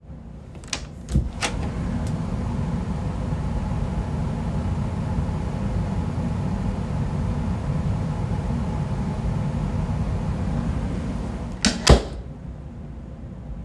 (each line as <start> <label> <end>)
0.2 loud sound of the system running 13.6
0.3 HVAC Closet Door Open and Close 2.7
10.5 HVAC Closet Door Open and Close 12.4